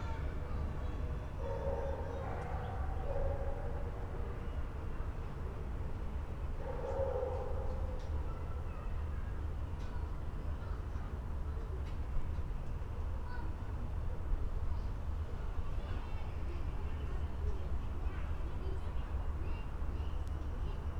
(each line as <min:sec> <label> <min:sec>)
0:01.4 dogs 0:04.2
0:06.6 dogs 0:08.1